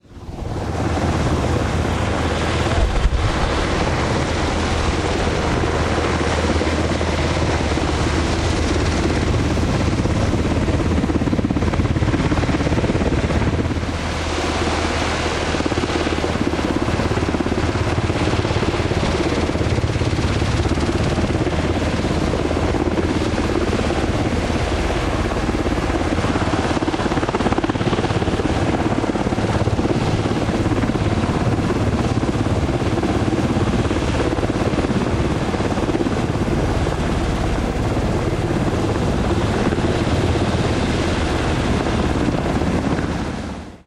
Black Hawk military attack helicopter 0:00.0 - 0:43.8

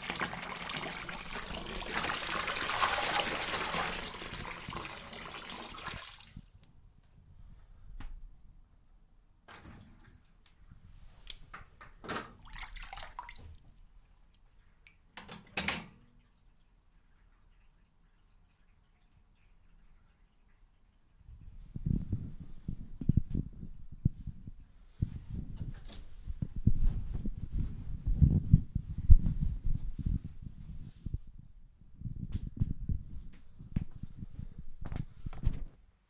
bath running 0:00.0 - 0:06.5
water being splashed 0:12.4 - 0:13.8
bath running 0:12.4 - 0:15.2

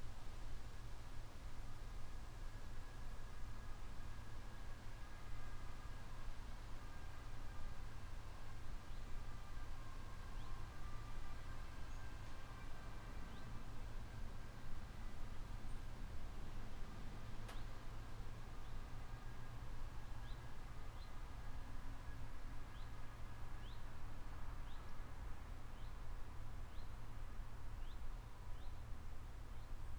traffic ambience from a road 0:04.0 - 0:29.9

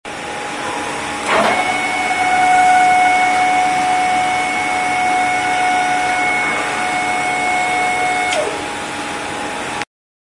hydraulic lifter up 0:01.1 - 0:09.0

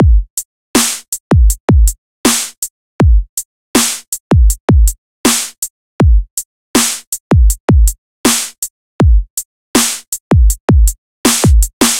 snare 0:00.8 - 0:01.1
snare 0:02.3 - 0:02.6
snare 0:03.8 - 0:04.1
snare 0:05.3 - 0:05.6
snare 0:06.8 - 0:07.1
snare 0:08.3 - 0:08.6
snare 0:09.8 - 0:10.1
snare 0:11.3 - 0:11.9

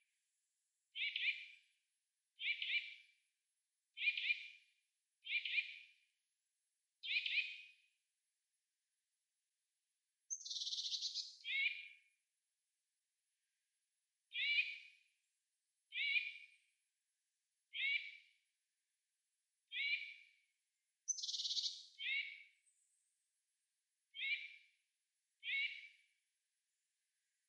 eurasian nuthatch alarm call 0:21.1 - 0:22.3

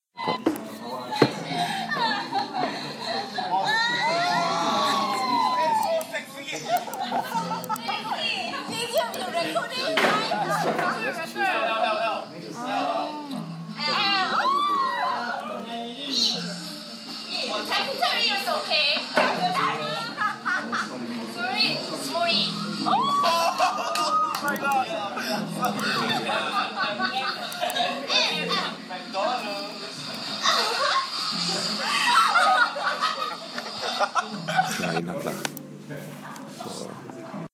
Guys and Girls playing Drinking Game 0:00.2 - 0:36.7

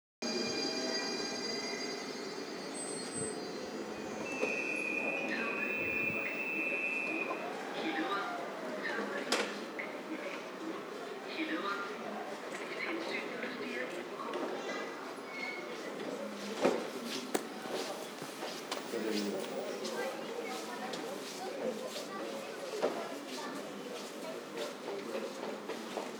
passing trains 0:00.2 - 0:13.4
announcements 0:00.2 - 0:14.1
people talking 0:00.2 - 0:26.1
footsteps 0:16.6 - 0:22.2
announcements 0:17.4 - 0:21.7

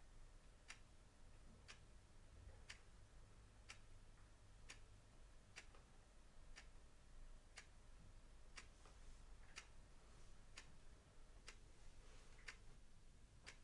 Mechanical chess clock ticking 0:03.6 - 0:03.9
Mechanical chess clock ticking 0:04.6 - 0:04.9
Mechanical chess clock ticking 0:05.5 - 0:05.9
Mechanical chess clock ticking 0:06.5 - 0:06.8
Mechanical chess clock ticking 0:07.4 - 0:07.8
Mechanical chess clock ticking 0:08.5 - 0:09.8
Mechanical chess clock ticking 0:11.4 - 0:11.7
Mechanical chess clock ticking 0:12.4 - 0:12.8
Mechanical chess clock ticking 0:13.4 - 0:13.6

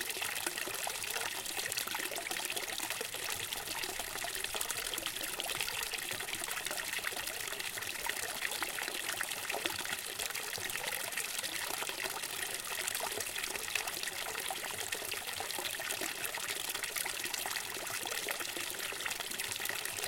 Water streaming out of a small fountain and falling into a basin 0:00.0 - 0:20.0

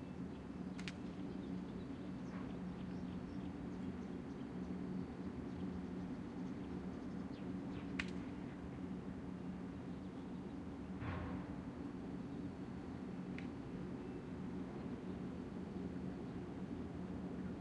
subtle sounds of the meadow 0:00.0 - 0:17.6
birds 0:00.0 - 0:08.6

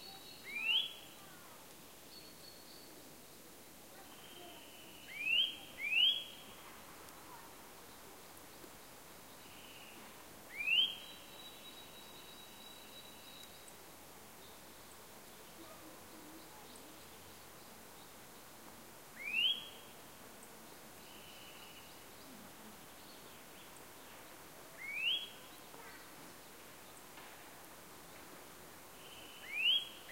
Eurasian Nuthatch calling in two different ways 0:00.0 - 0:01.0
Eurasian Nuthatch calling in two different ways 0:04.2 - 0:06.4
Eurasian Nuthatch calling in two different ways 0:10.5 - 0:13.6
Eurasian Nuthatch calling in two different ways 0:19.2 - 0:19.8
Eurasian Nuthatch calling in two different ways 0:24.8 - 0:25.4
Eurasian Nuthatch calling in two different ways 0:29.1 - 0:30.1

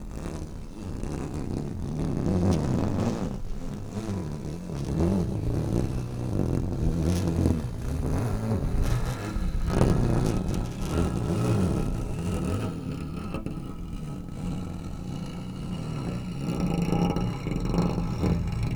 guitar pick scratching along the guitar strings 0:06.8 - 0:18.7

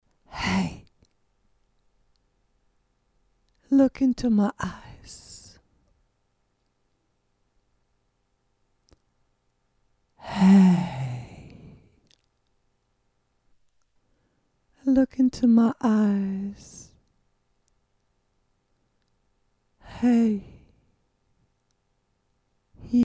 voice 0:00.4 - 0:00.8
voice 0:03.7 - 0:05.6
voice 0:14.8 - 0:16.9
voice 0:19.9 - 0:20.6
voice 0:22.8 - 0:23.0

